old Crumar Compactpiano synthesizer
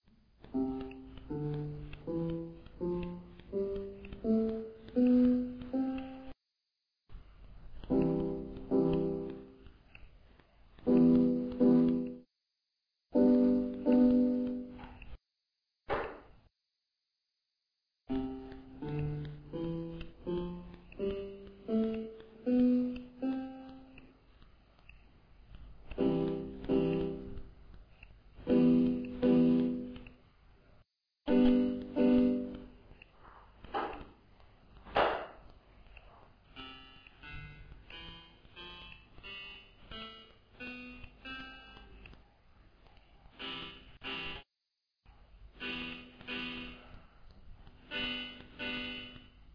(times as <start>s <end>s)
0.4s 6.4s, 7.8s 9.7s, 10.8s 12.2s, 13.1s 14.8s, 18.1s 24.0s, 25.8s 27.6s, 28.4s 30.0s, 31.3s 32.8s, 36.5s 42.0s, 43.3s 44.5s, 45.5s 46.8s, 47.8s 49.5s